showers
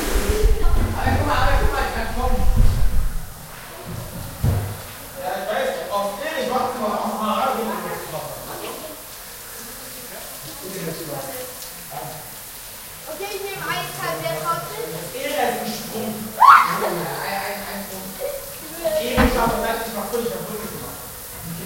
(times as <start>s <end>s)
0.0s 5.2s, 12.8s 17.3s